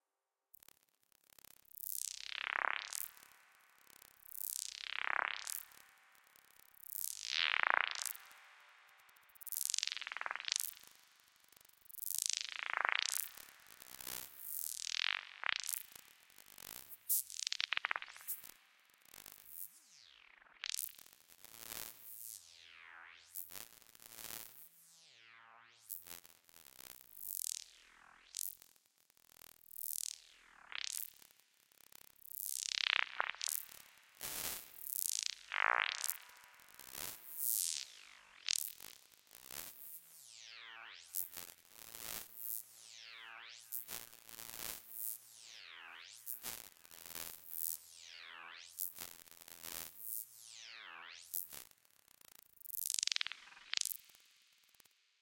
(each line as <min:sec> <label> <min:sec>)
0:01.7 Alien Crickets 0:18.7
0:29.7 Alien Crickets 0:31.3
0:32.2 Alien Crickets 0:55.0